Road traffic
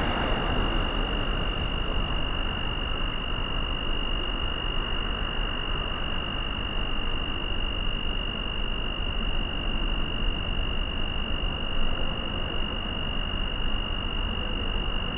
0.0 3.4

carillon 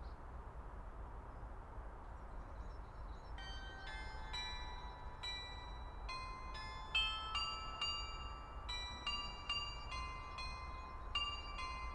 3.4 11.9

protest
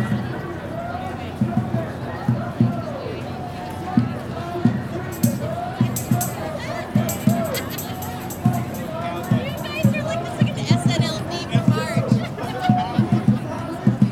4.3 12.3

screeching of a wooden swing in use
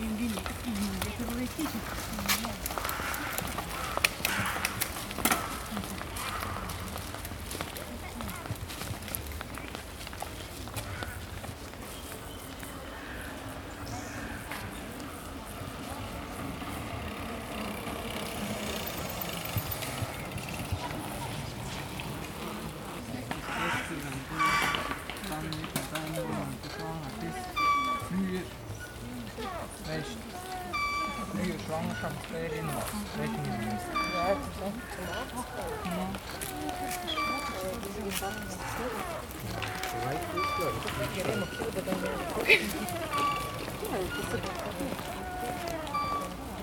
26.6 28.2, 28.8 46.6

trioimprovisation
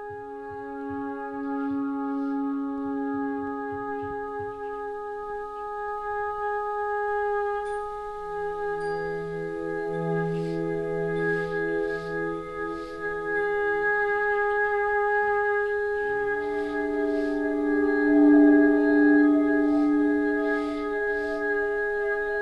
7.6 22.4

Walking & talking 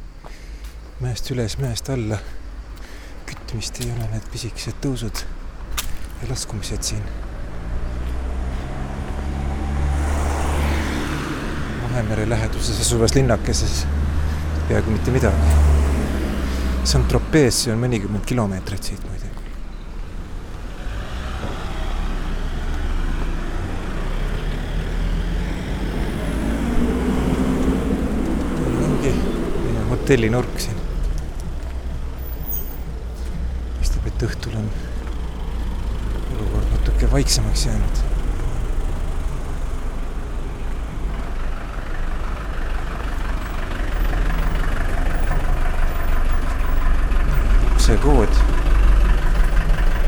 0.2 9.3, 16.5 20.7

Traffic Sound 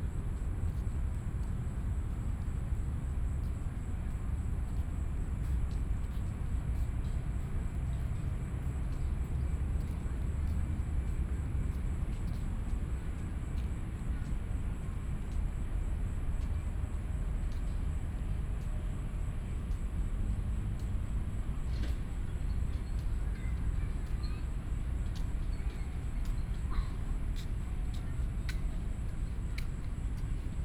6.2 30.6

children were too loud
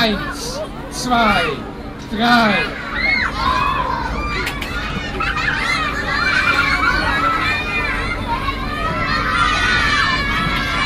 2.4 10.8

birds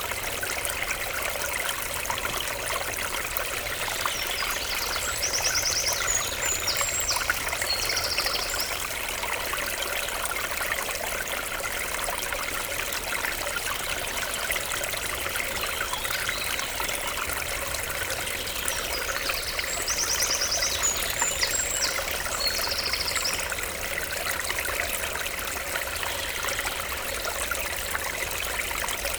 15.4 23.5

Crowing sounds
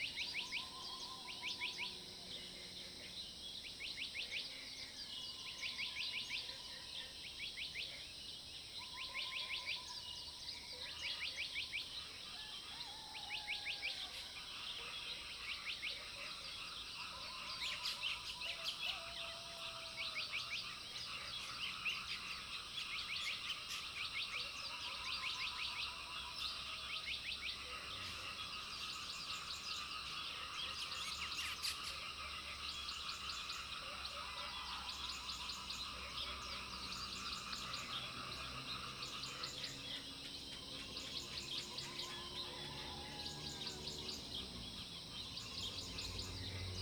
40.9 46.8

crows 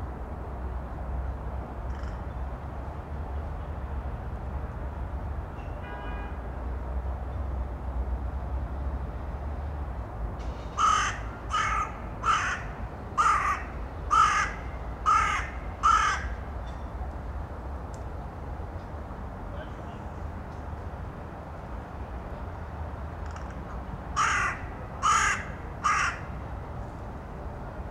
1.9 2.2, 10.8 16.4, 24.2 26.3

